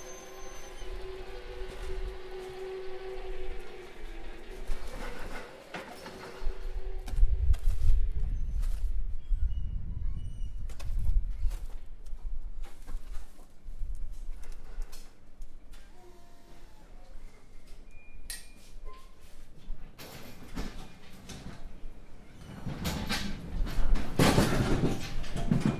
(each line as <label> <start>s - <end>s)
electric forklift hydraulic 0.0s - 7.2s
electric forklift hydraulic 15.7s - 17.1s